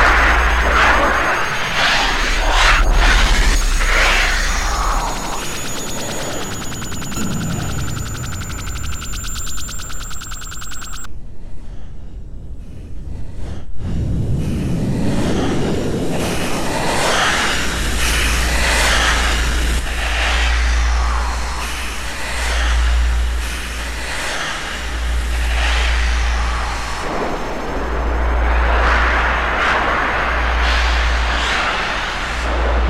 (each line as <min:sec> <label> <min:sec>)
0:00.0 synthesizer 0:11.1